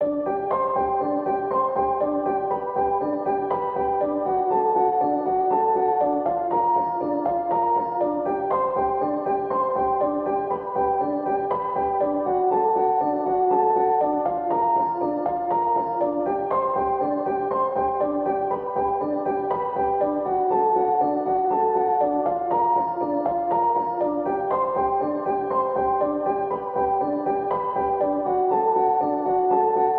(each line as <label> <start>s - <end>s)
piano 0.0s - 29.9s